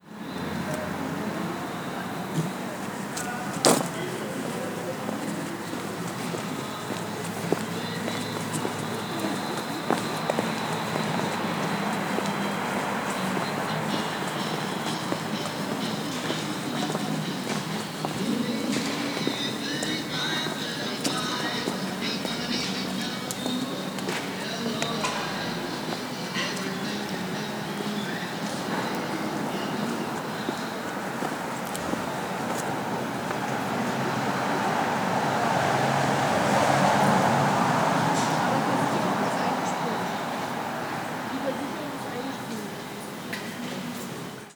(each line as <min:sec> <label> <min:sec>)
0:00.0 cars 0:44.5
0:02.3 walking 0:42.6
0:06.6 music 0:31.3